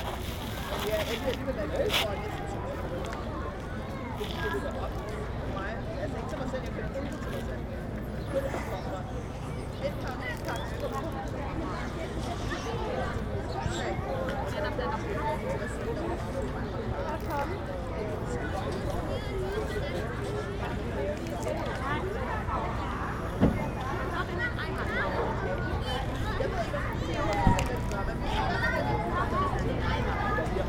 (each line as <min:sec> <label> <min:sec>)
0:00.0 Children playing in the park 0:30.6